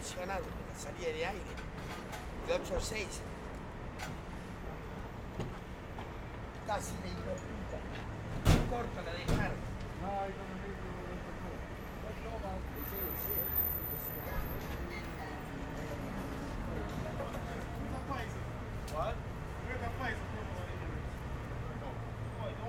traffic 0:00.0 - 0:22.6
workers unloading materials from a van 0:01.3 - 0:02.8
workers unloading materials from a van 0:07.5 - 0:10.0

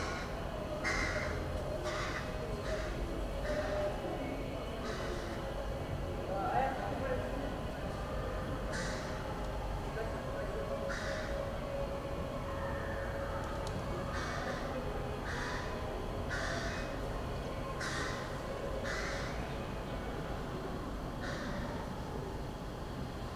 crows 0:00.0 - 0:03.8
crows 0:08.7 - 0:09.2
crows 0:10.9 - 0:11.3
crows 0:14.1 - 0:15.7
crows 0:16.3 - 0:16.9
crows 0:17.8 - 0:19.4
crows 0:21.2 - 0:21.7

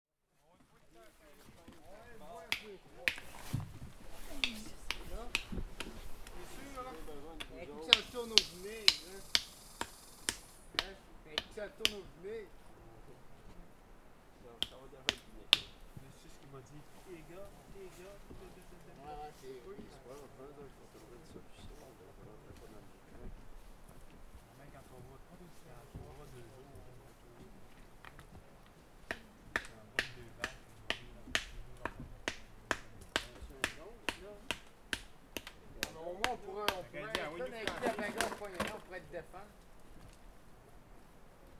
working with granite they hammer 0:02.5 - 0:12.1
working with granite they hammer 0:14.6 - 0:15.8
working with granite they hammer 0:29.0 - 0:38.8

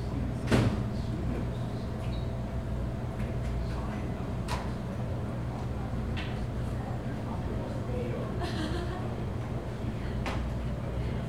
people talking 0:03.3 - 0:11.2

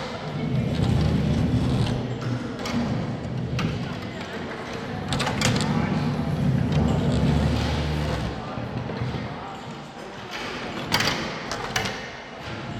men moving chairs and tables 0:04.8 - 0:09.1

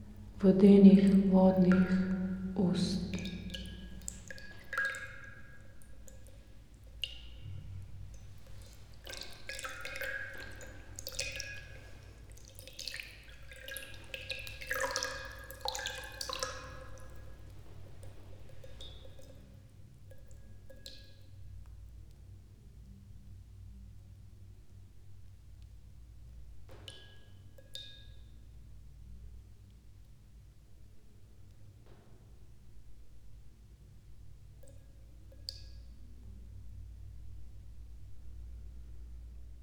porcelain bowl 0:00.0 - 0:21.8
water 0:00.0 - 0:39.6
reading poem 0:00.3 - 0:03.2

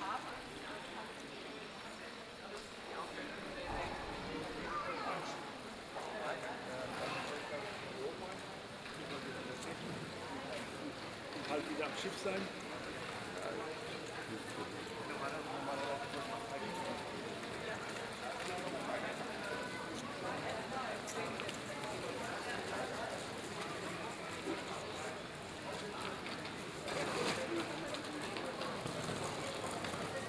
Several voices from visitors 0:00.0 - 0:30.2

